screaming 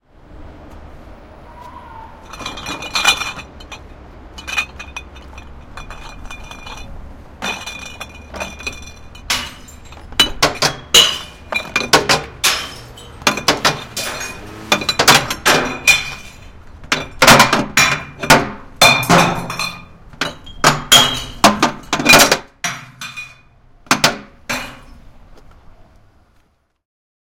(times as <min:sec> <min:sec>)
0:01.4 0:02.4